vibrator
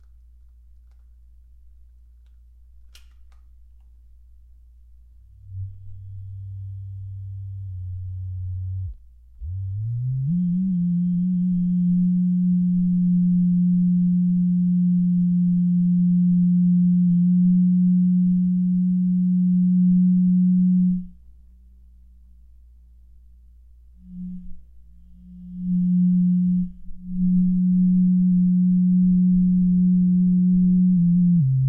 5.4 21.1, 25.2 31.6

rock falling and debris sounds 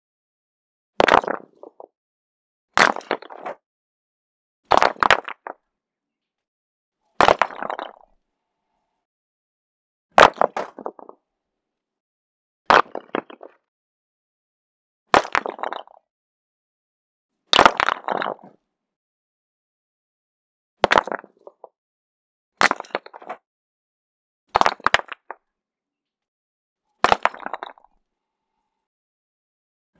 1.0 1.9, 2.8 3.6, 4.7 5.6, 7.2 8.0, 12.8 13.6, 15.2 16.0, 17.6 18.5, 20.8 21.6, 22.6 23.4, 24.6 25.4, 27.0 27.9

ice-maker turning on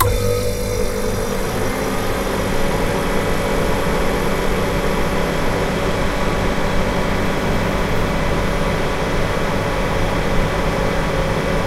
0.0 5.8

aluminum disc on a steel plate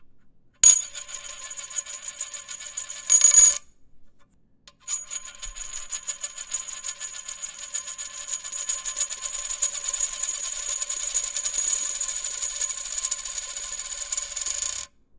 0.6 3.6

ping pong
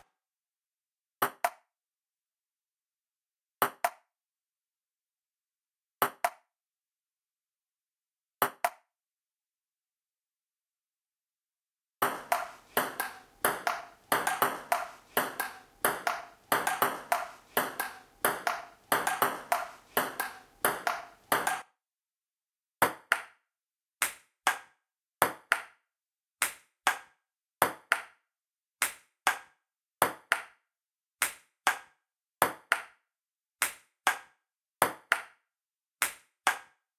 1.2 1.7, 3.6 4.1, 6.0 6.5, 8.4 8.9, 12.0 21.6, 22.8 23.4, 24.0 25.8, 26.4 28.2, 28.8 30.6, 31.2 33.0, 33.6 35.4, 36.0 36.8

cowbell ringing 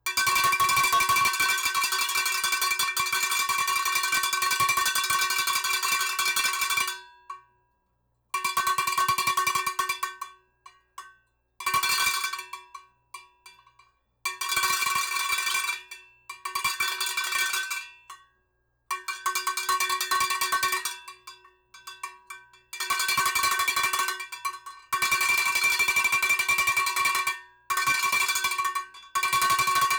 29.6 29.9

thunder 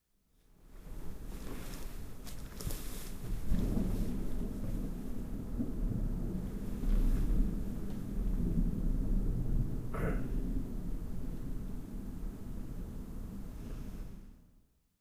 3.1 14.2

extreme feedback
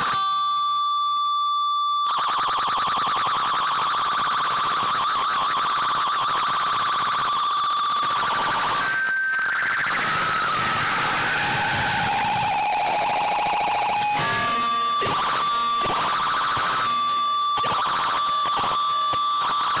9.4 19.7

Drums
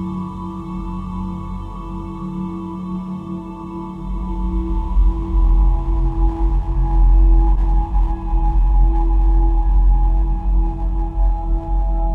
3.4 12.1

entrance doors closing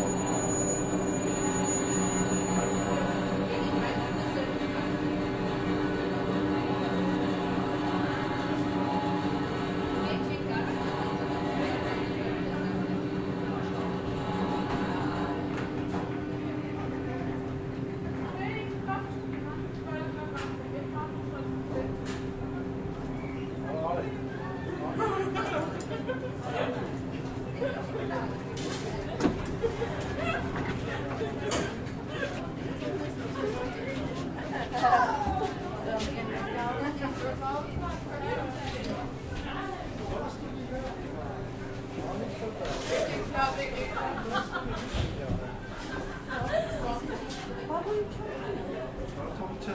0.8 16.4

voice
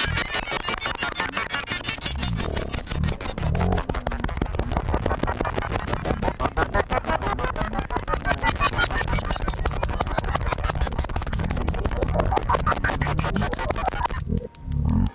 11.2 14.1

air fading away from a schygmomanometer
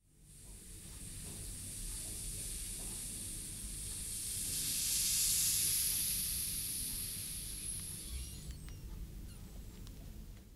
2.4 8.7

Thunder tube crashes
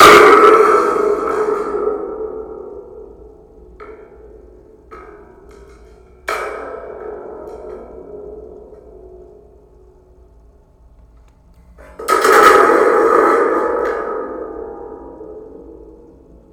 0.0 3.2

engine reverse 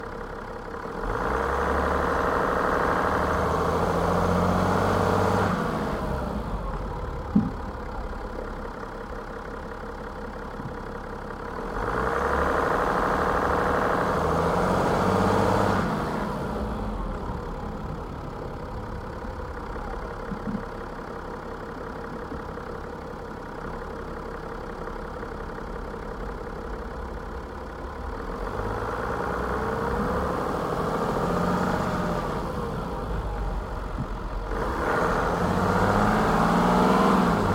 25.4 37.5

